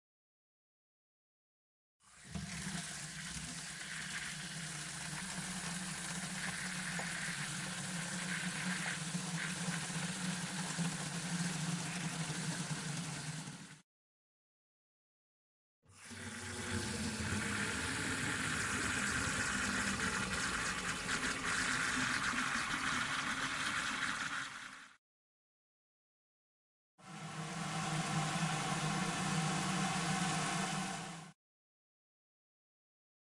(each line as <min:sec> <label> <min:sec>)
0:02.0 filling the garden watering can with a sprayer on the hose 0:13.8
0:15.9 filling the garden watering can with a sprayer on the hose 0:25.0
0:27.0 filling the garden watering can with a sprayer on the hose 0:31.4